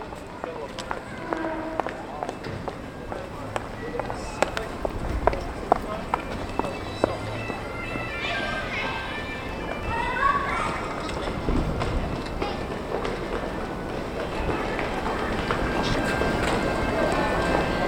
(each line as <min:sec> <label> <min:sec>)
0:00.0 bike 0:17.8
0:00.0 wind 0:17.8